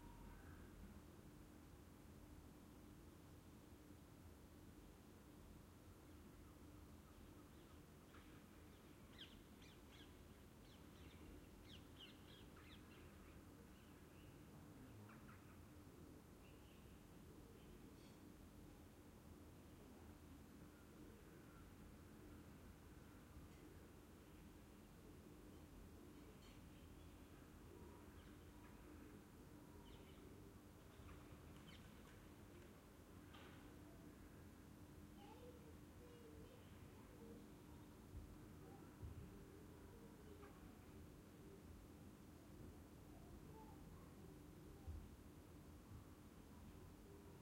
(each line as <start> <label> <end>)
7.1 birds 15.9
25.5 birds 33.8